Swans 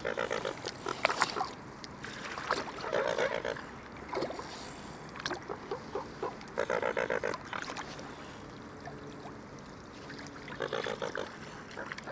2.2s 4.6s, 5.3s 8.2s, 10.0s 12.1s

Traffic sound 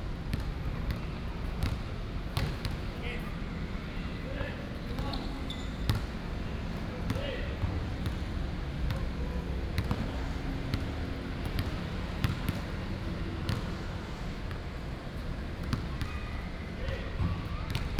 7.6s 17.9s

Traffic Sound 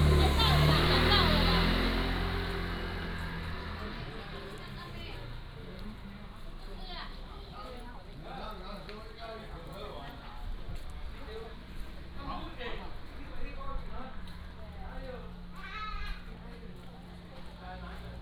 0.0s 8.9s

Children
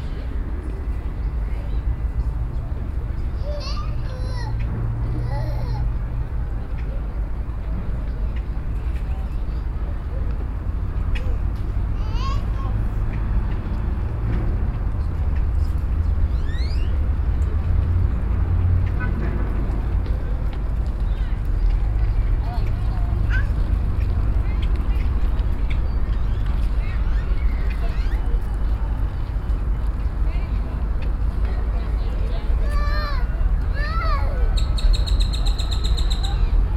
3.3s 6.1s, 11.1s 13.3s, 21.3s 25.1s, 31.4s 34.8s

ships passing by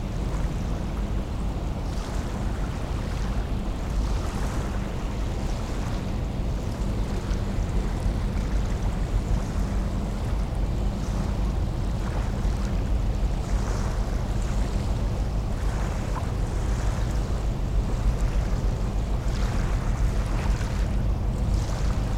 10.2s 22.1s

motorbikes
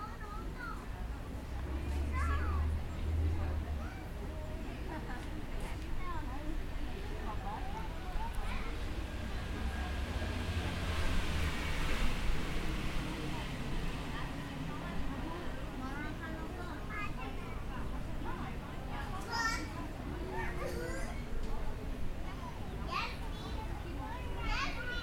0.9s 16.6s

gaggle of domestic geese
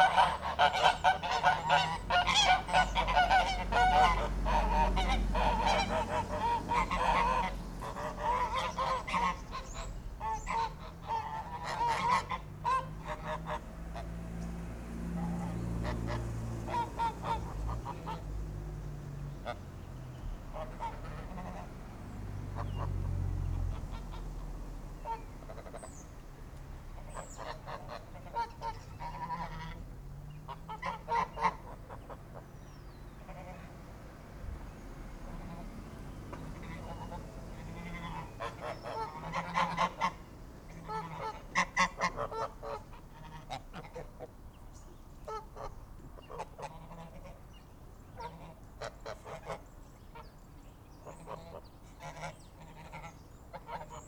0.0s 14.1s, 15.4s 18.2s, 20.5s 21.7s, 27.0s 29.8s, 30.4s 32.6s, 36.3s 44.3s, 45.3s 47.5s, 48.2s 50.3s, 51.0s 54.0s

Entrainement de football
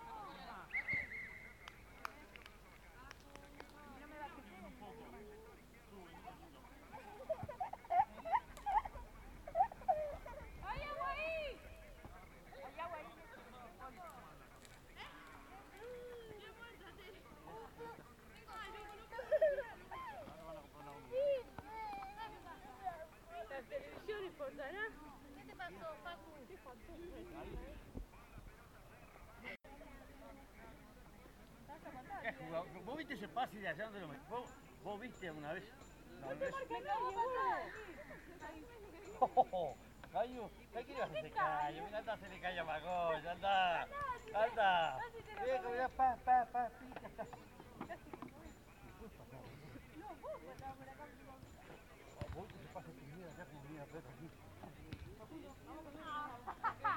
49.4s 53.2s, 54.1s 56.0s

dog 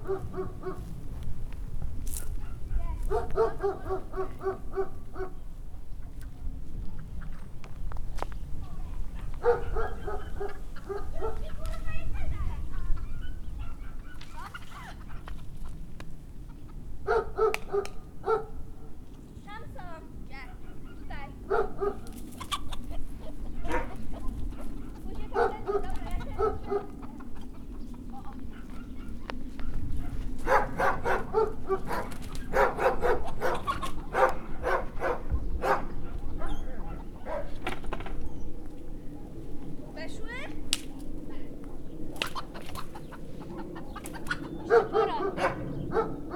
0.0s 0.9s, 2.4s 5.4s, 9.2s 11.5s, 13.0s 14.2s, 17.0s 18.6s, 20.5s 22.2s, 23.6s 27.1s, 28.2s 37.6s, 44.6s 46.3s

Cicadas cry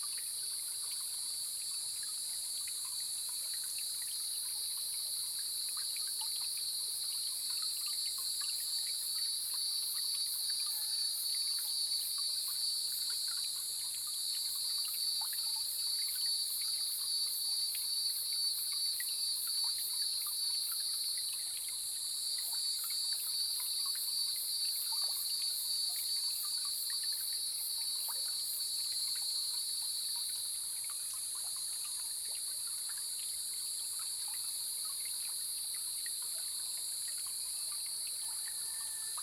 8.0s 13.5s

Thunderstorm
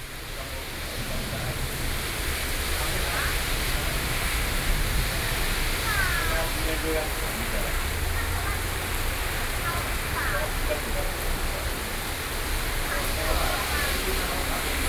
0.8s 10.1s

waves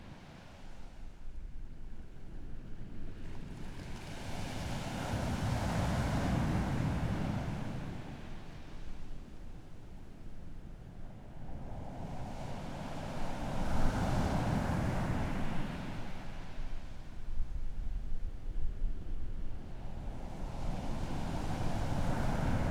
3.0s 10.2s, 10.8s 17.3s, 19.4s 22.7s

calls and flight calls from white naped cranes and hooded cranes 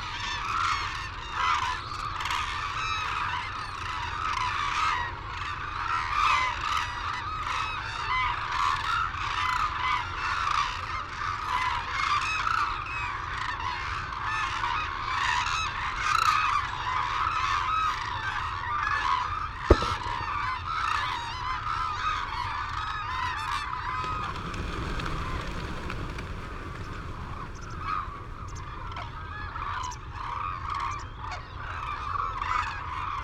23.5s 33.2s

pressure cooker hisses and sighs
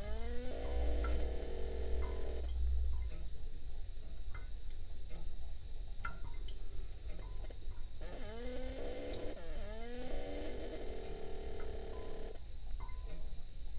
0.0s 2.4s, 8.0s 12.4s

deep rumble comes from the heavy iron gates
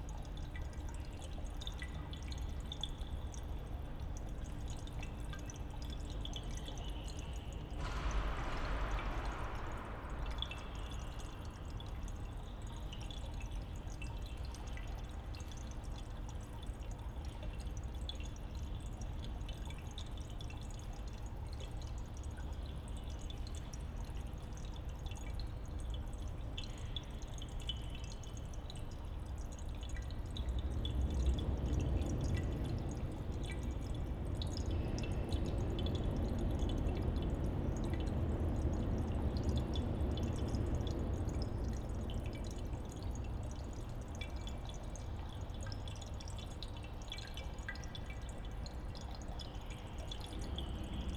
6.8s 13.7s, 30.2s 43.8s

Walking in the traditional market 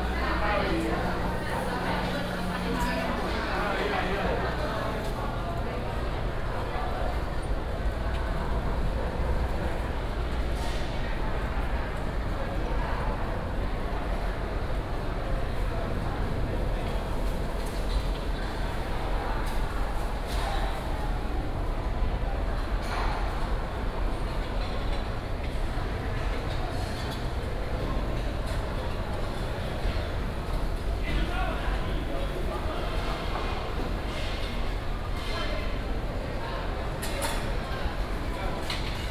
0.0s 22.9s

